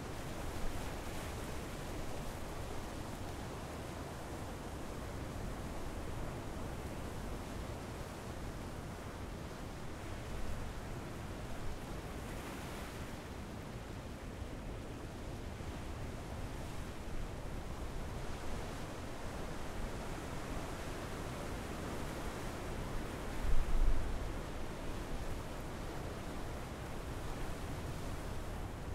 waves 0:00.0 - 0:28.9

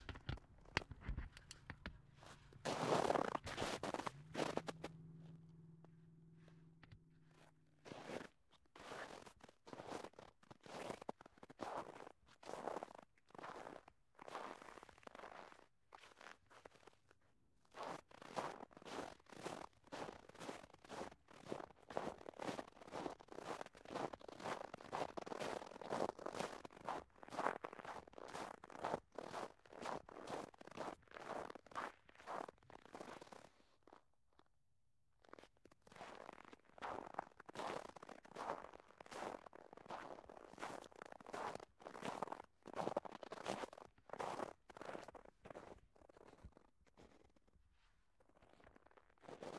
Footsteps in crunchy snow 0:00.0 - 0:05.6
Footsteps in crunchy snow 0:06.4 - 0:17.0
Footsteps in crunchy snow 0:17.7 - 0:34.0
Footsteps in crunchy snow 0:35.2 - 0:49.5

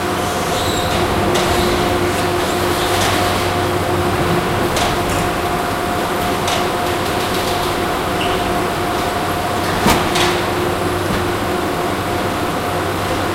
doors opening/closing 0:00.0 - 0:13.2
mechanical noises 0:00.1 - 0:12.1

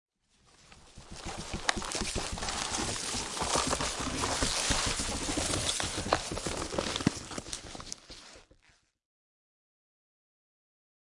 medium sized plant growing 0:00.4 - 0:08.9
dry leaves rustling 0:00.9 - 0:08.4

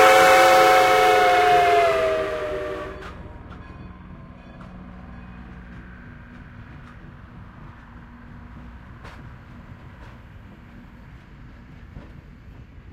whistle is quite loud 0:00.0 - 0:03.2
Steam Train Leaving Station 0:00.0 - 0:12.9
people watching the train 0:00.0 - 0:12.9
urban traffic 0:00.0 - 0:12.8

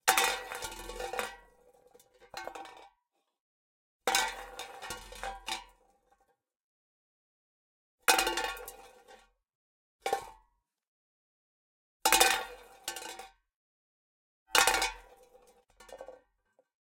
empty tin metal can falling and rolling over concrete floor 0:00.0 - 0:02.9
empty tin metal can falling and rolling over concrete floor 0:04.1 - 0:06.3
empty tin metal can falling and rolling over concrete floor 0:08.1 - 0:09.3
empty tin metal can falling and rolling over concrete floor 0:12.1 - 0:13.4
empty tin metal can falling and rolling over concrete floor 0:14.6 - 0:16.7

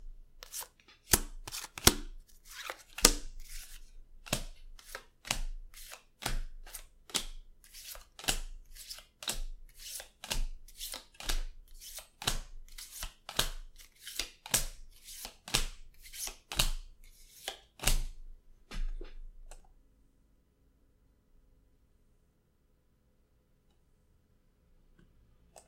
Playing Cards Being Dealt 0:00.4 - 0:19.2

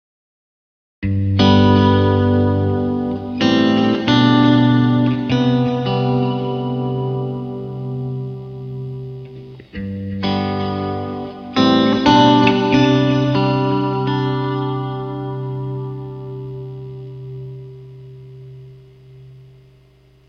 chords with an impulse response 0:01.0 - 0:19.6

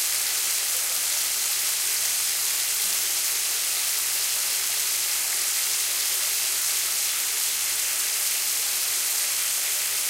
Water running down the bath tub 0:00.0 - 0:10.0

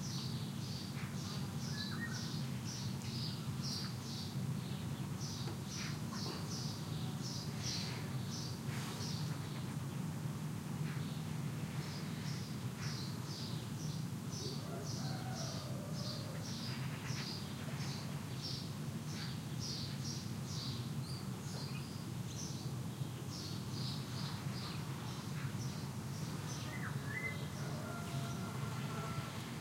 Rooster 0:14.4 - 0:16.6
Rooster 0:27.4 - 0:29.6

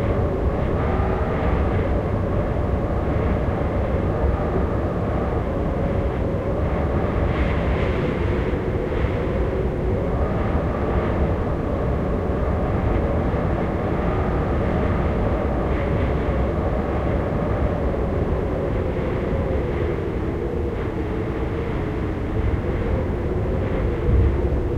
Gusty wind howling and humming in the corners of a house 0:00.0 - 0:24.7

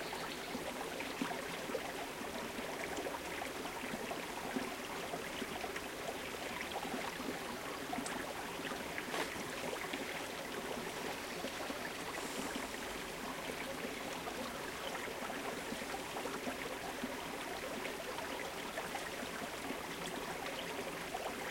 bird song 0:00.0 - 0:00.7
Bubble, murmur of small stream 0:00.0 - 0:21.5

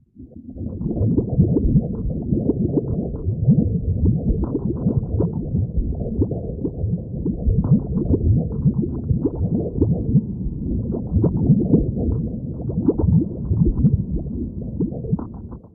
watery sound 0:00.2 - 0:15.7
heartbeat 0:00.6 - 0:15.7

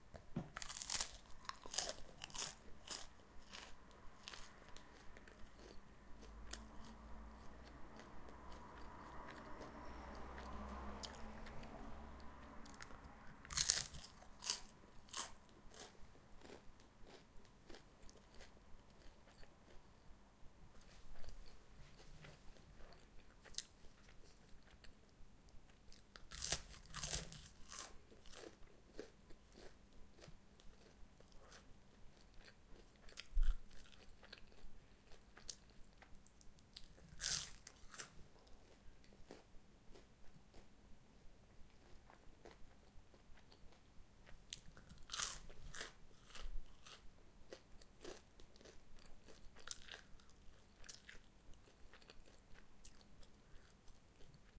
I am chewing 0:00.1 - 0:20.1
car 0:05.9 - 0:13.5
I am chewing 0:20.7 - 0:54.5

